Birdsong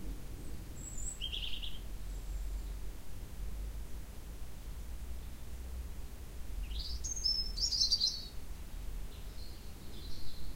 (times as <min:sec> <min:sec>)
0:00.3 0:02.9, 0:06.6 0:10.5